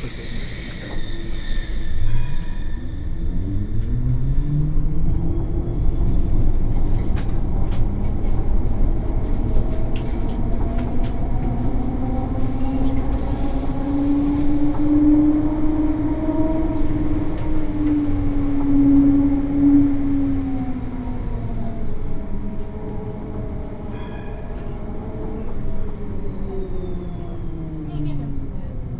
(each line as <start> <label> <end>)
0.0 Tram 4 28.9